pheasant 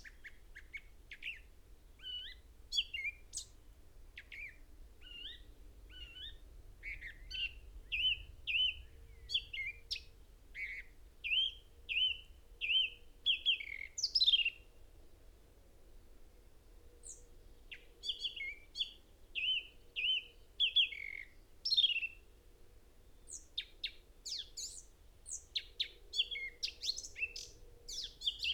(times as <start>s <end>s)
0.0s 3.6s, 23.2s 28.5s